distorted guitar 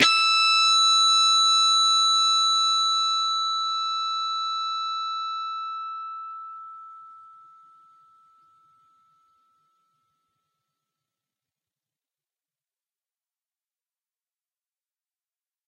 0.0s 1.8s

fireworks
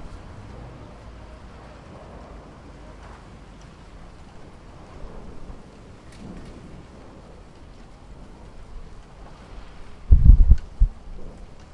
4.7s 11.7s

